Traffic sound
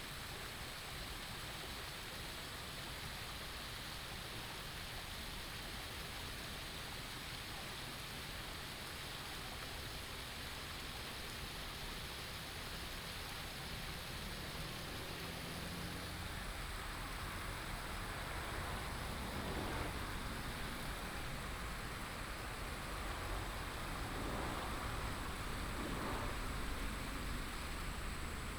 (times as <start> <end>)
13.7 28.5